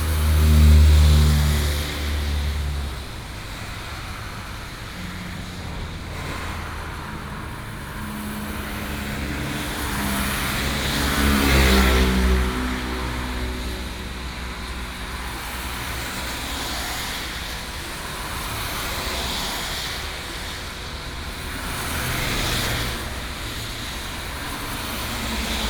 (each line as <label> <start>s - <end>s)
Traffic sound 0.0s - 25.6s